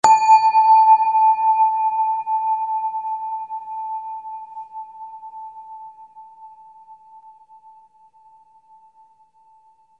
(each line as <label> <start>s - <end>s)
Synthetic Bell Sound 0.0s - 5.8s